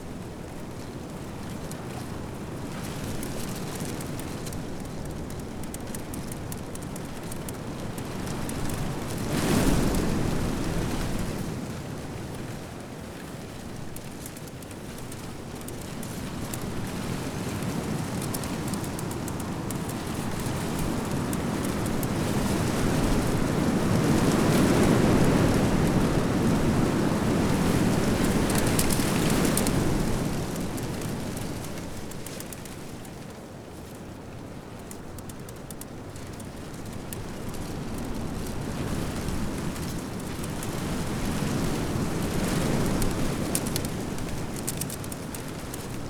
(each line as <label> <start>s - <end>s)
reeds in wind 0.1s - 46.0s